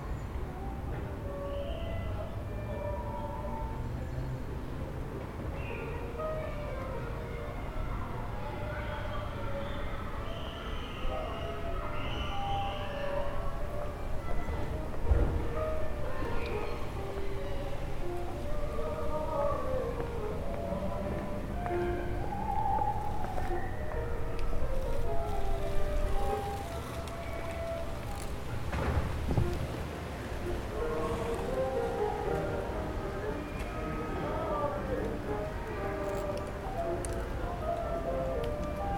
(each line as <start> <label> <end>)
0.0 bruits de la ville 38.9
13.5 répétitions des musiciens 38.9